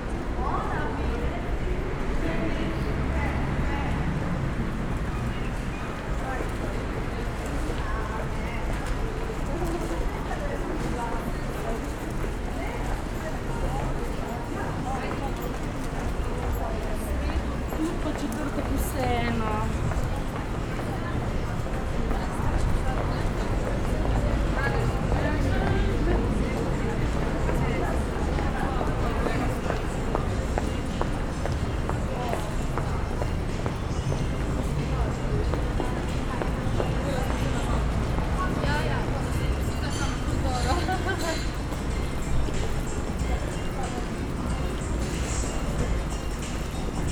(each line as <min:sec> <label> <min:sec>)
0:00.0 walk through passage 0:47.1